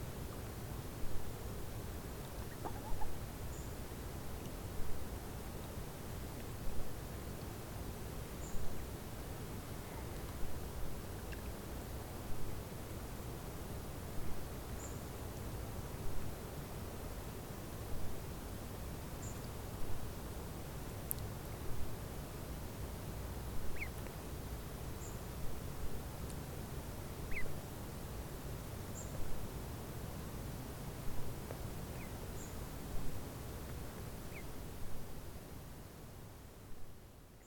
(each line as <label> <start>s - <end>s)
small ducklings with their mother 0.0s - 37.4s
canada goose 2.4s - 3.2s
canada goose 23.7s - 24.0s
canada goose 27.3s - 27.5s